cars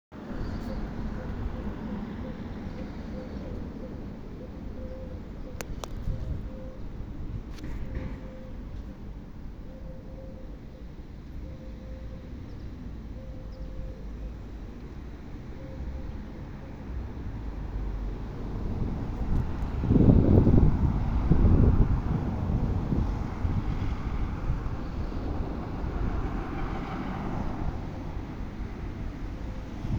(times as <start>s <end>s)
10.5s 29.9s